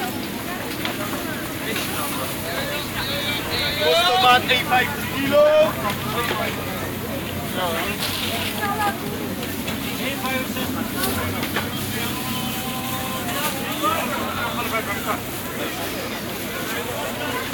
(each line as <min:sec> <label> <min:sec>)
0:00.0 Vendors 0:17.5
0:00.0 cars 0:17.5
0:00.0 plastic bags 0:17.5